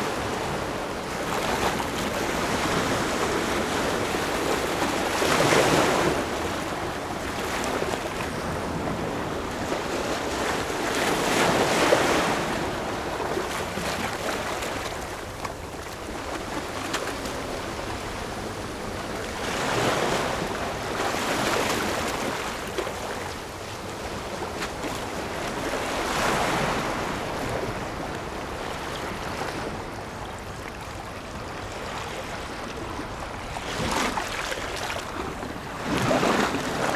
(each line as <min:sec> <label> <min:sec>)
0:00.0 waves 0:36.9